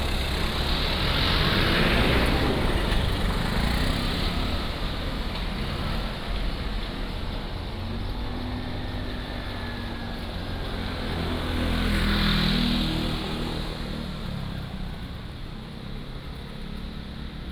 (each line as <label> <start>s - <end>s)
Traffic Sound 0.0s - 17.5s